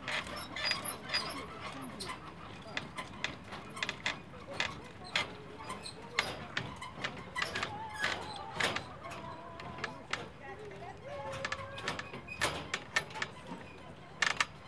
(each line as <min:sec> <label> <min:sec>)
0:00.0 Walking across the squeaky footbridge 0:14.6